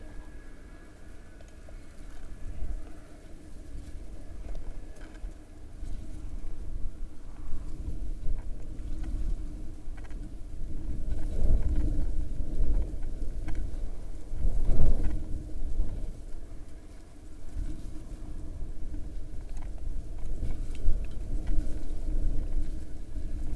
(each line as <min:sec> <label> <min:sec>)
0:00.0 Wind 0:23.5